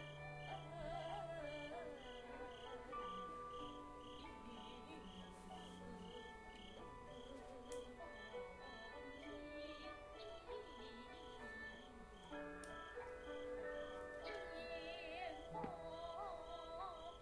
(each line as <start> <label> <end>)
0.0 singing 17.2